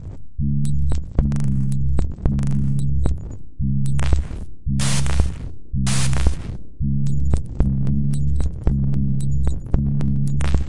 4.8s random rhythms 5.3s
5.9s random rhythms 6.4s

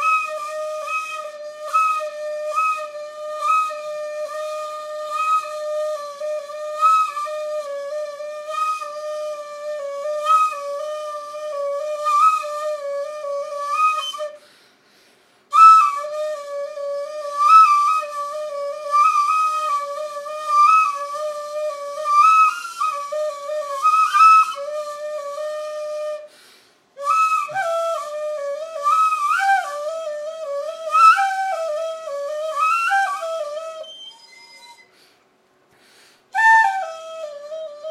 0.0s Indian bamboo flute 37.9s

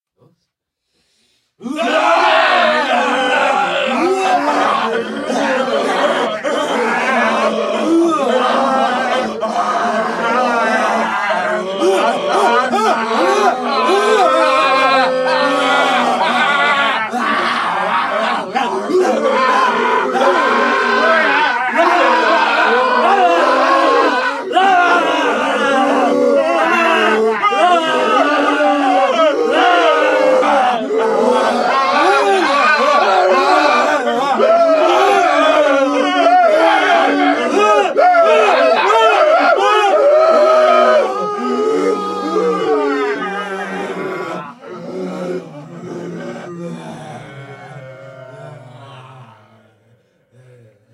1.6s zombies 50.9s
40.5s ghost 50.9s

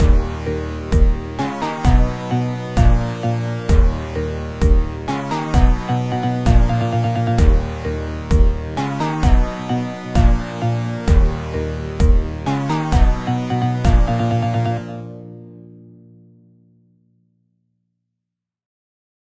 0.0s House track (intro) 15.0s

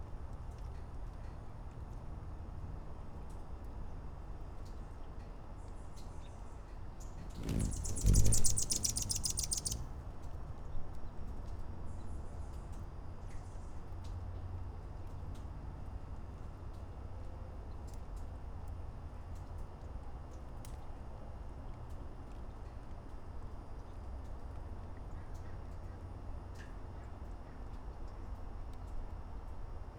7.2s plane 9.9s
7.2s Hummingbird Flight 10.0s

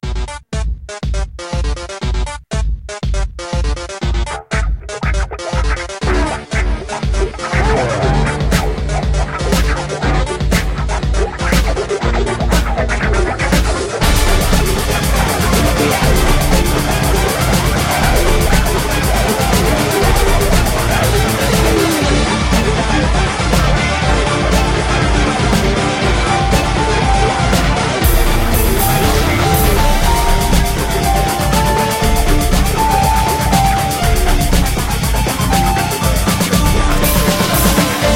0.0s Music 38.1s

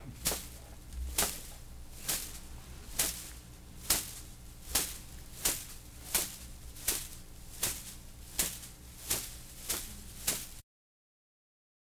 0.1s Hitting a man with the branch o a palm tree 10.6s

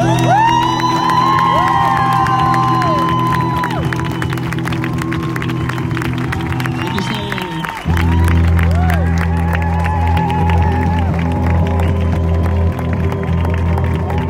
0.0s claps 14.2s

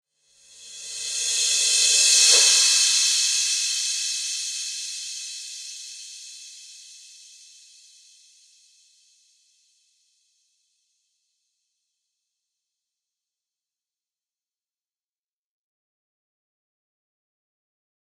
0.3s Reverse Cymbals 9.1s

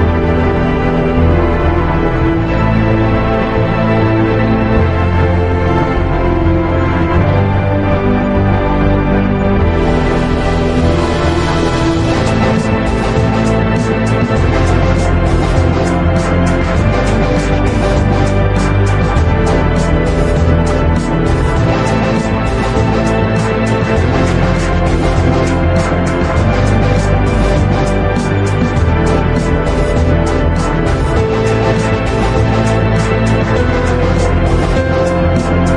0.0s orchestral 35.7s
0.0s piano 35.7s

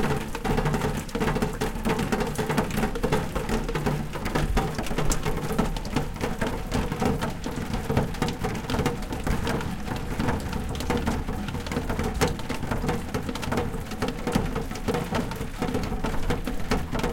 0.0s rain 17.1s

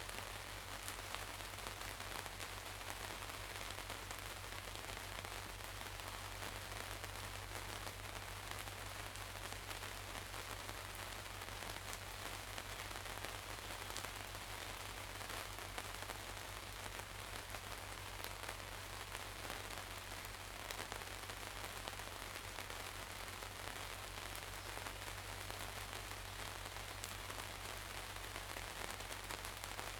0.0s light rain 29.9s

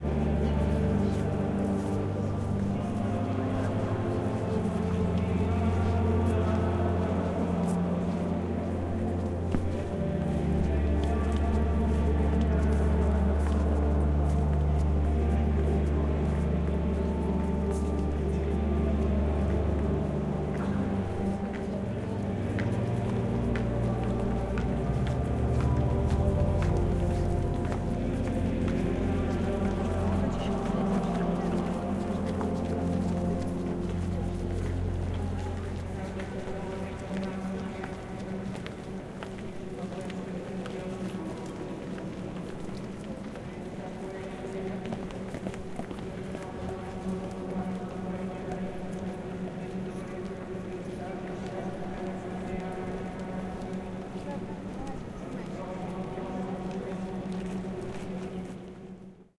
0.0s walla 58.8s
0.0s music 59.3s
0.1s footsteps 59.3s

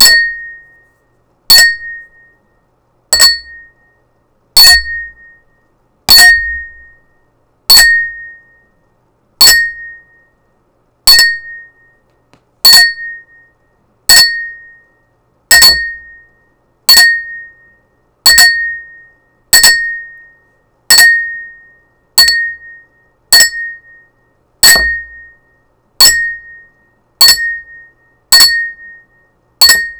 0.0s Double glass toast dings 0.6s
1.5s Double glass toast dings 2.3s
3.1s Double glass toast dings 3.8s
4.6s Double glass toast dings 5.4s
6.1s Double glass toast dings 7.0s
7.7s Double glass toast dings 8.6s
9.4s Double glass toast dings 10.3s
11.1s Double glass toast dings 12.0s
12.7s Double glass toast dings 14.9s
15.5s Double glass toast dings 29.9s

